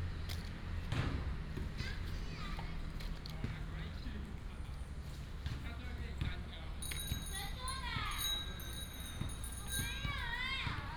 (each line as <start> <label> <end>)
1.6 Child 3.1
7.4 Child 8.4
9.7 Child 10.9